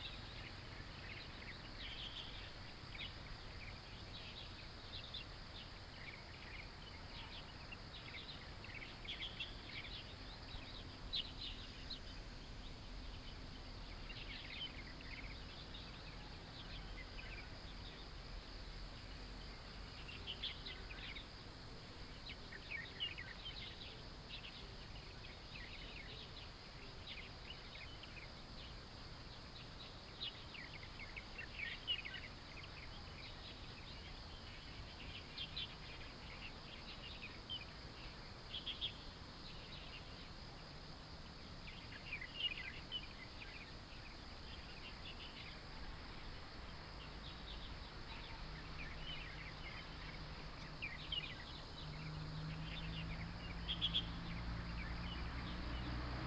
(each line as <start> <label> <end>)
41.4 birds sound 56.2